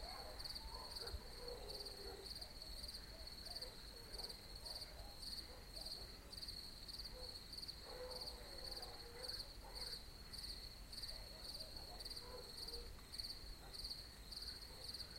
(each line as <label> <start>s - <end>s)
distant hunter-dogs 0.0s - 6.3s
crickets 0.0s - 15.1s
distant hunter-dogs 7.1s - 10.2s
distant hunter-dogs 11.0s - 15.1s